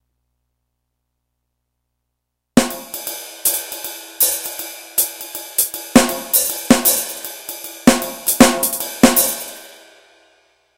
jazz beat 2.6 - 9.7

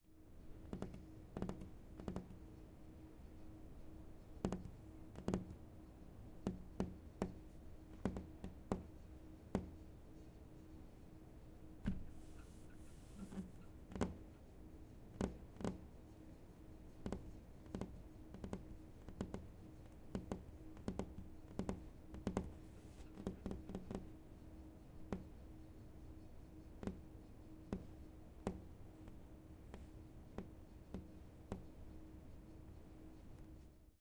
Tapping fingers against a table 0.6 - 2.4
Tapping fingers against a table 4.4 - 5.6
Tapping fingers against a table 6.4 - 9.8
Tapping fingers against a table 13.2 - 14.3
Tapping fingers against a table 15.1 - 15.8
Tapping fingers against a table 17.0 - 24.1
Tapping fingers against a table 25.1 - 25.4
Tapping fingers against a table 26.8 - 27.1
Tapping fingers against a table 27.7 - 31.8

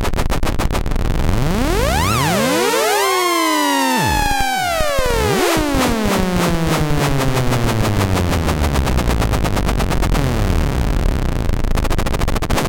modular synth 1.0 - 11.8

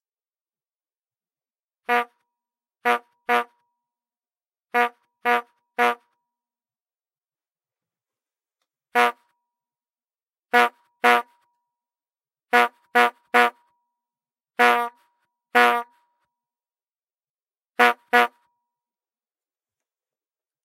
Brass Bulb Horn 1.8 - 3.6
Brass Bulb Horn 4.7 - 6.2
Brass Bulb Horn 8.9 - 9.4
Brass Bulb Horn 10.5 - 11.5
Brass Bulb Horn 12.5 - 13.7
Brass Bulb Horn 14.6 - 16.1
Brass Bulb Horn 17.8 - 18.5

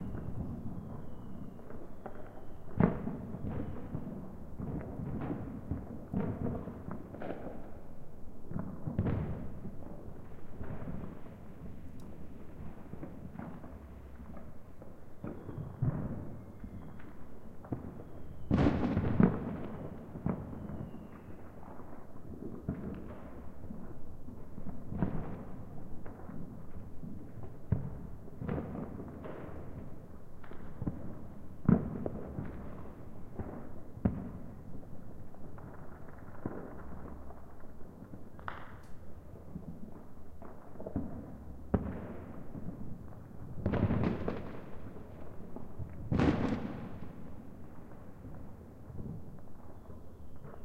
firecrackers 0.0 - 50.6

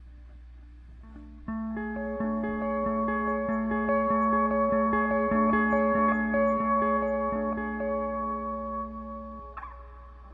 guitar arpeggiation 1.0 - 10.3

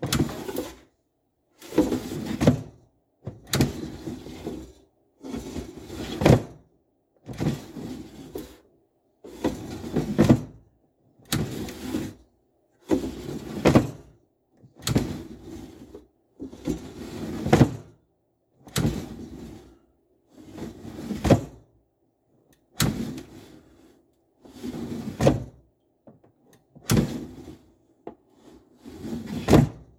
air fryer tray sliding open and closed 0.0 - 0.8
air fryer tray sliding open and closed 26.9 - 27.4

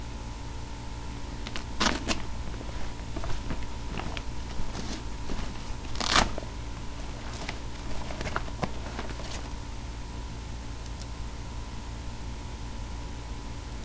getting a pen out of bag 1.3 - 9.6
messenger bag that closes with velcro 1.4 - 9.6

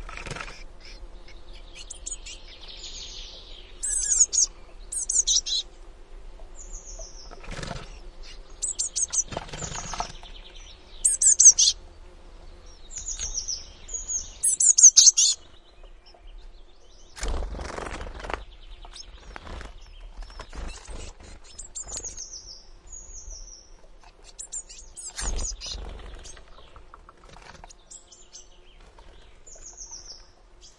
Wings 0.0 - 1.0
bird mother calling 0.0 - 5.7
other birds 0.0 - 30.7
bird mother calling 6.6 - 11.8
Wings 7.2 - 10.4
bird mother calling 12.6 - 15.4
Wings 17.1 - 22.2
Wings 24.0 - 28.0

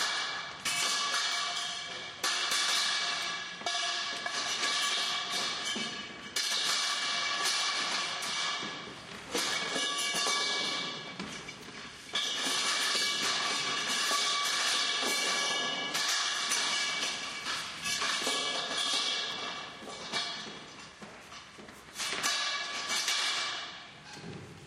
clanging tubes are dragged to the hoister 0.0 - 24.4

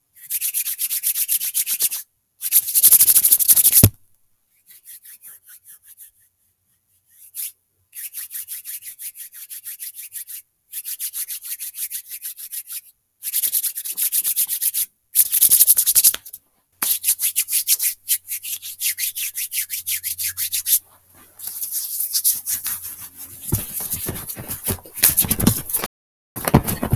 Rubbing my hands together 21.0 - 26.9

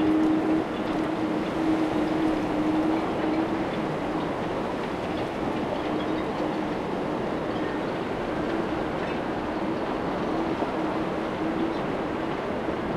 wind whistling in the masts of sailing boats 0.0 - 12.9

